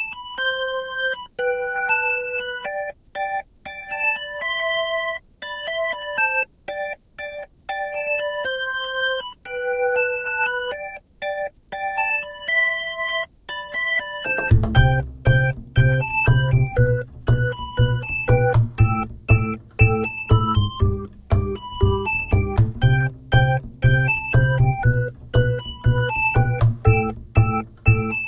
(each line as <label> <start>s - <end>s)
Piano 0.0s - 28.2s